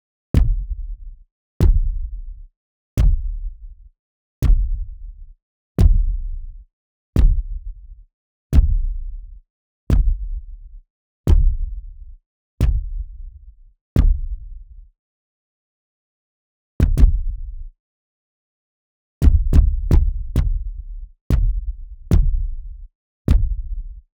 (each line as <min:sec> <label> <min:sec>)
0:19.2 heavy robot footsteps 0:20.7